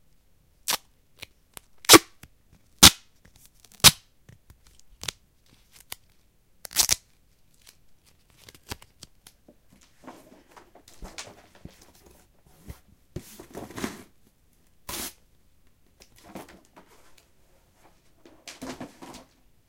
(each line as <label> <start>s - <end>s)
unrolling a piece of duct tape, tearing it 0.7s - 2.2s
unrolling a piece of duct tape 2.8s - 9.4s
unrolling a piece of duct tape, tearing it 2.8s - 9.4s
placing then replacing it on a cardboard box 9.8s - 14.2s
placing then replacing it on a cardboard box 16.1s - 19.4s